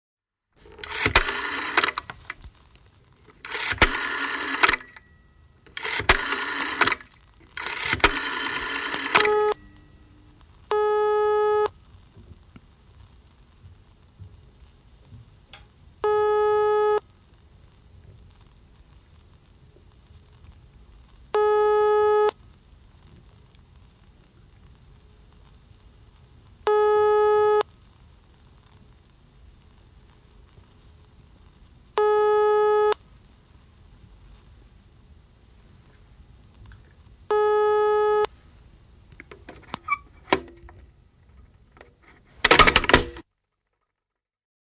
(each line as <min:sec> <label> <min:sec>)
0:00.7 Old landline telephone from the 1950s, dialing 0:02.3
0:03.4 Old landline telephone from the 1950s, dialing 0:05.1
0:05.7 Old landline telephone from the 1950s, dialing 0:09.7
0:09.0 alarm signal from the receiver 0:11.7
0:26.7 alarm signal from the receiver 0:27.6
0:42.4 Old landline telephone from the 1950s, dialing 0:43.2